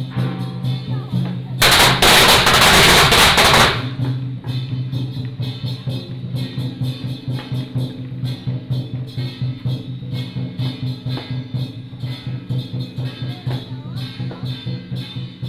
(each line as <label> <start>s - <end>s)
Walking in the alley 0.0s - 15.4s
firecracker 1.6s - 5.4s